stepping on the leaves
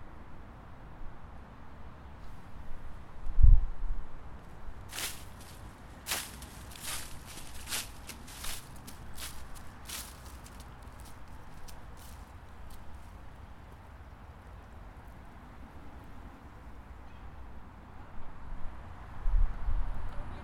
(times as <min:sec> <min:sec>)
0:04.8 0:13.4